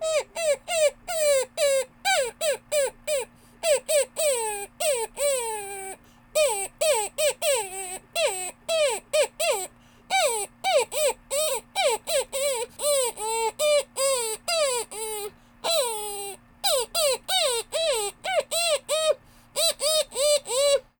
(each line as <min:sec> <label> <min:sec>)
0:00.0 Dog Whining 0:20.9